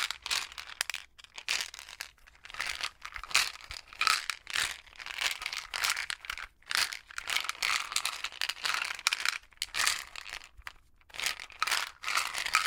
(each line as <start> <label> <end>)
11.1 shook/rattled an over the counter bottle of pain relievers 12.6